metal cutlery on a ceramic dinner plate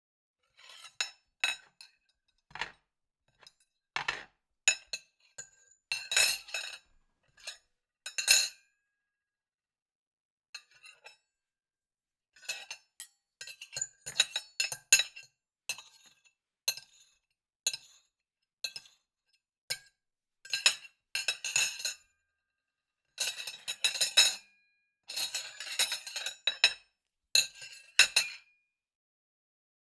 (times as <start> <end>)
2.5 2.8, 3.4 4.3